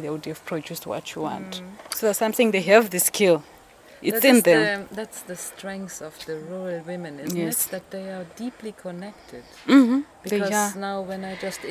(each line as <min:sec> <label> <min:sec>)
0:00.0 midday breeze 0:11.7